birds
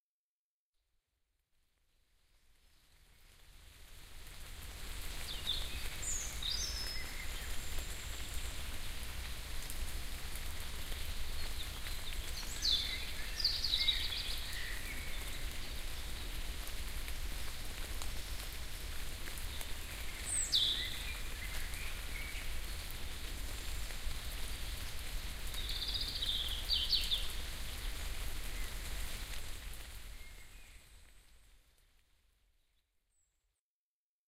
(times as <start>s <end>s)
17.8s 31.2s